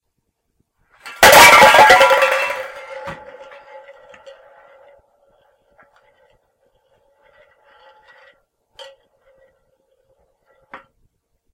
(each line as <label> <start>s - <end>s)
cans crashing 1.0s - 5.1s